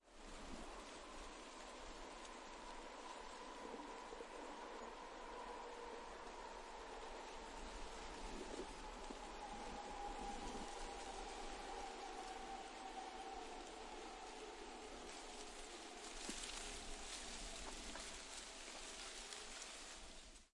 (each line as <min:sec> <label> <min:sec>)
0:00.0 Wind Rustles Leaves on Branch 0:20.5
0:00.0 train goes by in the distance 0:20.4